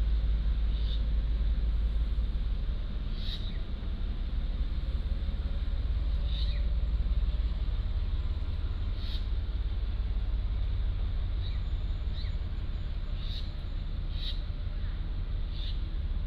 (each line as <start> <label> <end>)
0.0 The train passes by 16.2
3.1 Bird calls 3.6
8.9 Bird calls 9.3
11.4 Bird calls 14.5
15.5 Bird calls 15.9